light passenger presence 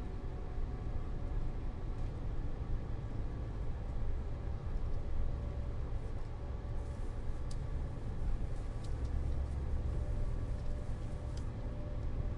6.8s 12.2s

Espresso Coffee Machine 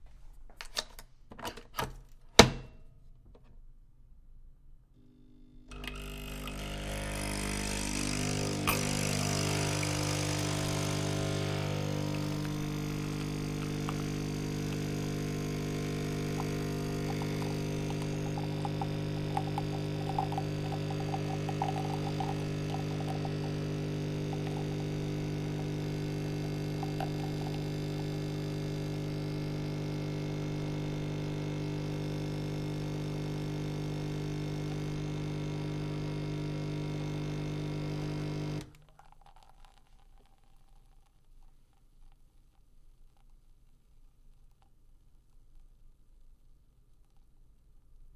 5.0s 41.1s

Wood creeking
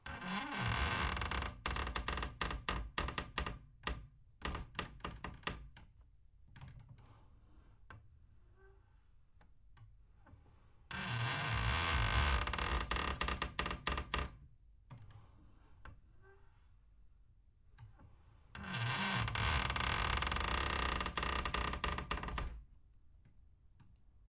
18.6s 22.6s

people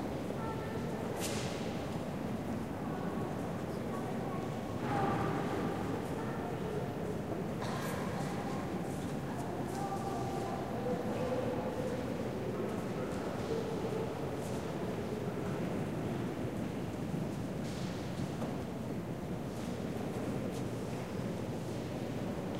0.0s 15.8s

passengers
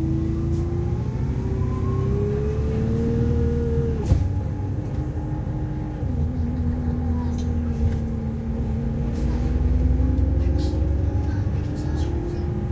4.0s 12.7s

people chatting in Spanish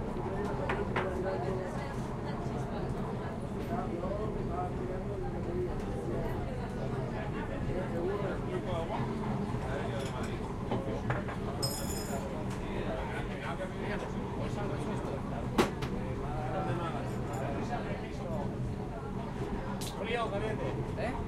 19.8s 21.2s

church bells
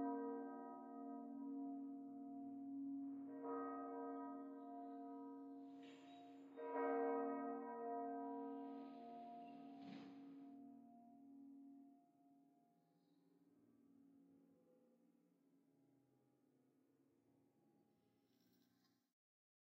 0.0s 12.5s

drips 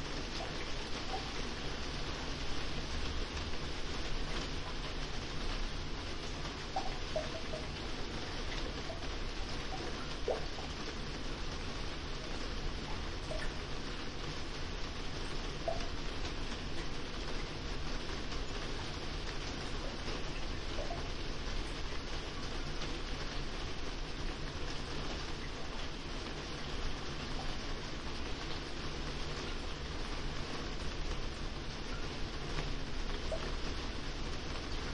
6.3s 11.1s, 11.9s 14.2s

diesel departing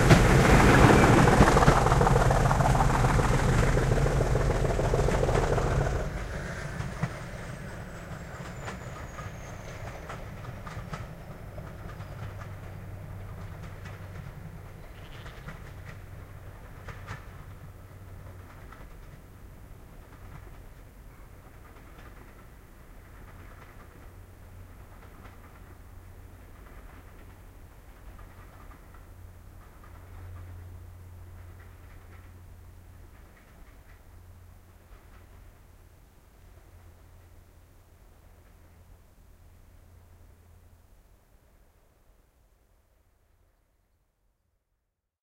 0.0s 13.8s

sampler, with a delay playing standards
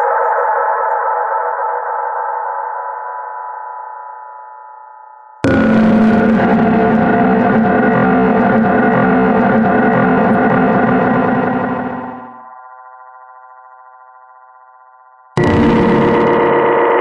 5.4s 12.4s, 15.4s 17.0s

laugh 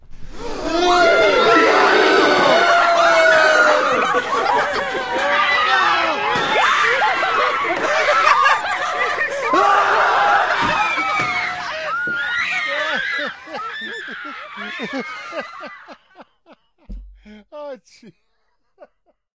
3.4s 5.4s, 7.0s 9.7s, 12.9s 19.3s

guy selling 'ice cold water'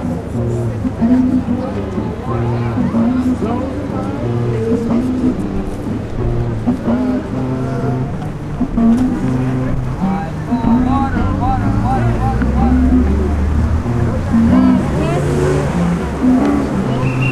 9.5s 15.6s

